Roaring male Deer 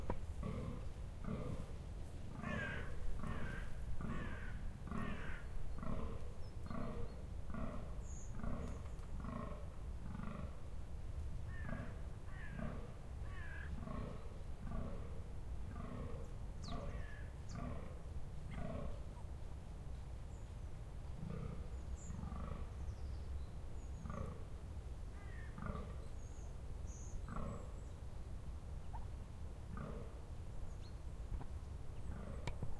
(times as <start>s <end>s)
0.4s 10.6s, 29.7s 30.2s, 32.0s 32.6s